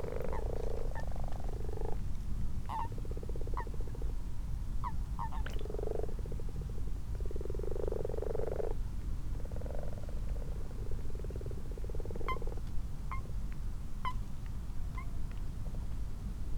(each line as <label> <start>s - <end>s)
common toads 0.0s - 2.1s
common frogs 0.0s - 13.4s
common toads 4.8s - 8.8s
common toads 9.4s - 13.3s
common frogs 14.0s - 14.3s
common frogs 14.9s - 15.2s